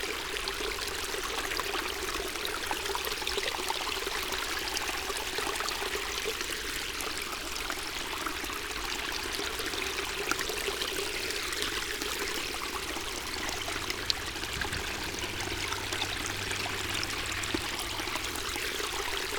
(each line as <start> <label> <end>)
8.6 fourth pond 19.3